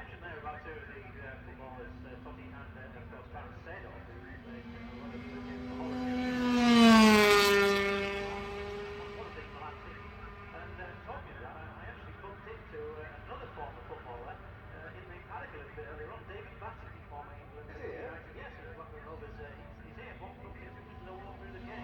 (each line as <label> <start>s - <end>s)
british motorcycle grand prix 2005 ... 125 qualifying 0.0s - 21.8s